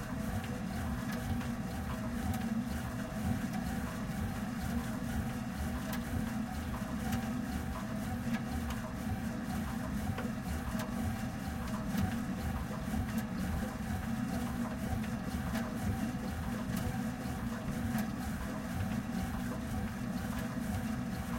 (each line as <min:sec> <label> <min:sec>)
0:00.0 exercising on a cross-trainer at medium speed 0:21.3